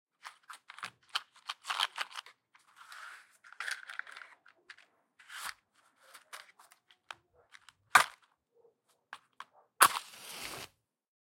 Lighting a Match 9.8 - 10.7

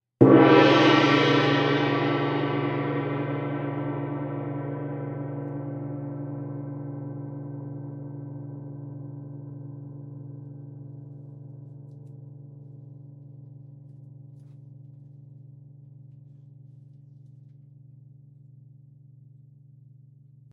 gong hit 0.2 - 10.0

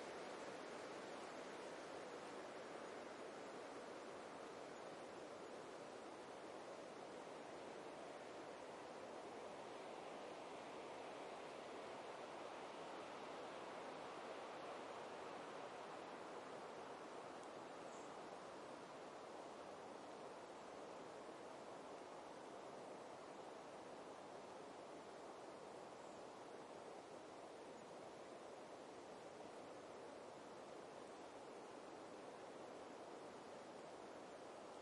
raindrops subtle hitting the leaves 0.0 - 34.8
rustling of the leaves of a young oak 0.0 - 34.8
bird song 17.8 - 18.2

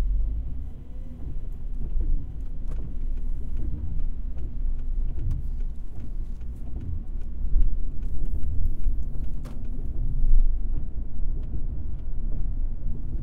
driving car in rain 0.0 - 13.2
traffic 0.0 - 13.2

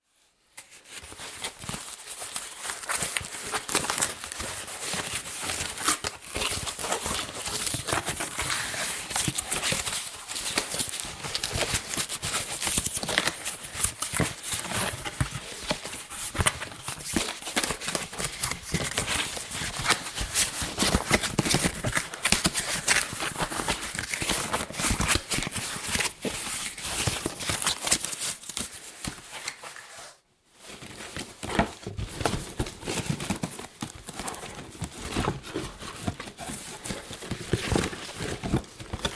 Unpack the gift box 0.1 - 39.1

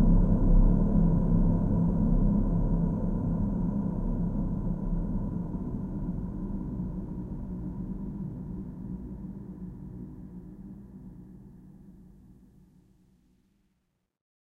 Drone 0.0 - 10.3

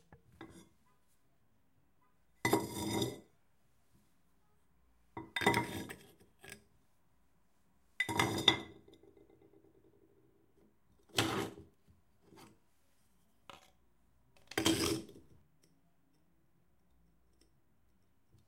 crockery planter pots shoved along cement 2.5 - 3.3
crockery planter pots shoved along cement 11.1 - 11.6
crockery planter pots shoved along cement 14.5 - 15.2

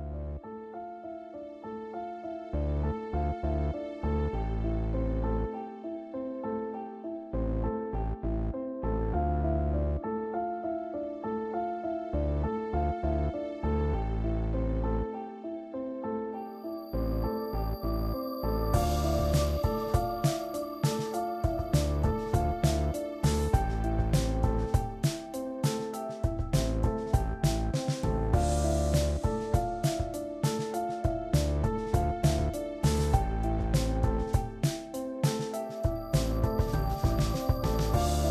mysterious beat 18.6 - 38.3

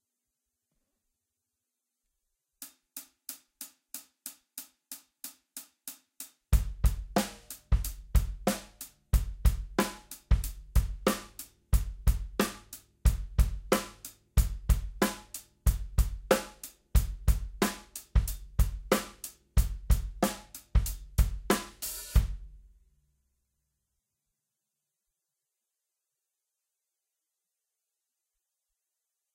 Hiphop drums 6.6 - 22.4

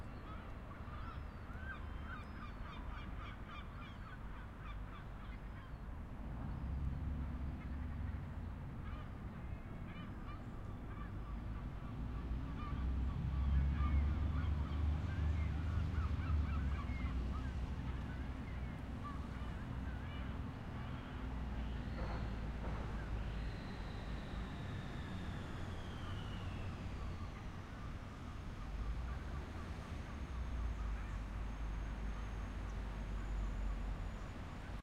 traffic noise of public busses 0.0 - 34.8
Seagulls 0.2 - 5.8

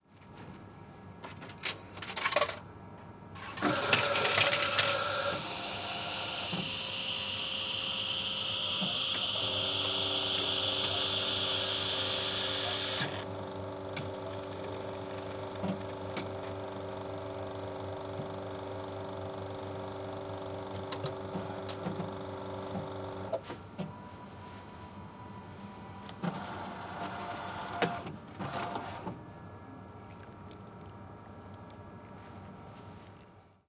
Paid Coffee machine 3.4 - 29.2

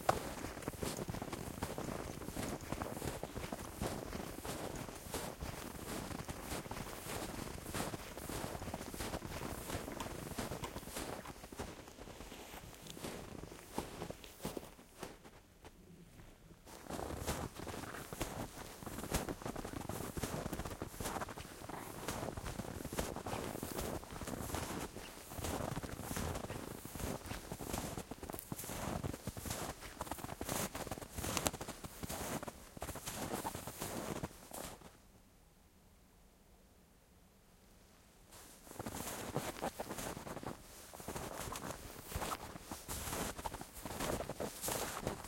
walking through snow 0.0 - 35.0
walking through snow 38.3 - 45.2

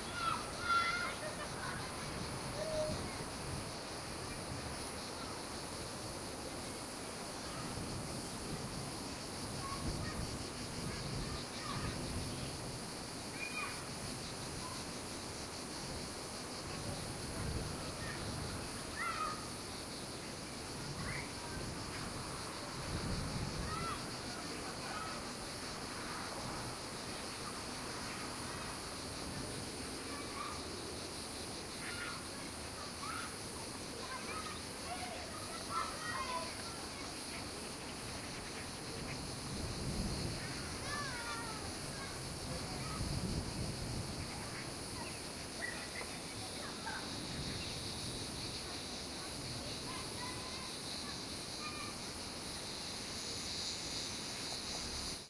typical strong wind 0.0 - 30.0
Children playing in fields of dry grass 0.0 - 55.2
cicadas 0.0 - 55.2
typical strong wind 36.8 - 45.6

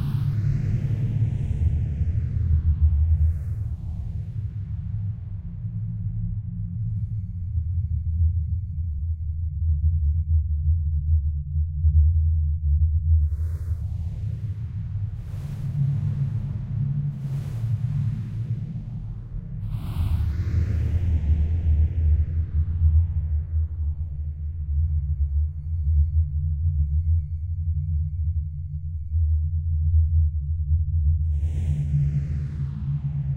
repetitive rumble sounds 12.2 - 27.3
drone 13.3 - 28.1

